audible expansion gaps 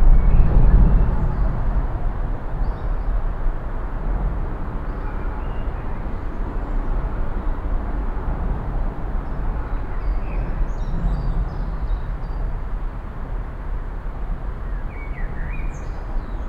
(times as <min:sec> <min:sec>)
0:00.0 0:04.3